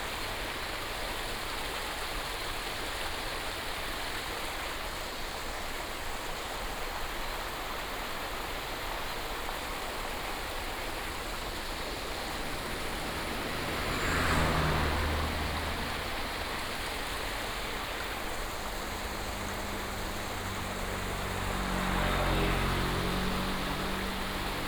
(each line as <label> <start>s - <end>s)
stream 0.0s - 24.6s
Traffic sound 10.1s - 24.6s